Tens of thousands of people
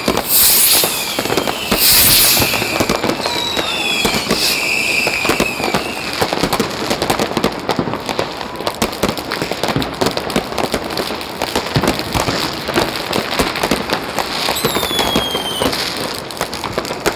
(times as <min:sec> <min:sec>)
0:00.0 0:07.0